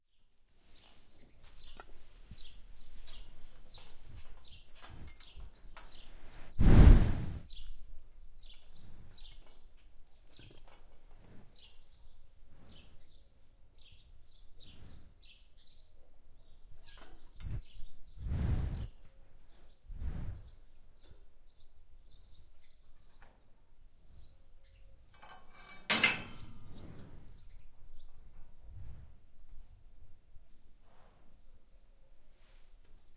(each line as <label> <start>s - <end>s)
Breath of cow 6.1s - 7.5s
Breath of cow 17.4s - 19.0s
Breath of cow 19.9s - 20.6s